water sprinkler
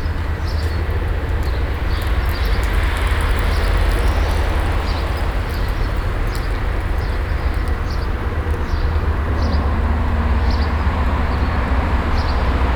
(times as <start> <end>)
0.0 8.8